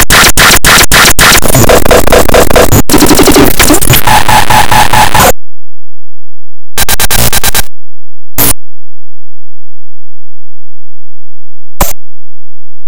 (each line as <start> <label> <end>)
0.0 glitch 5.4
6.8 glitch 7.7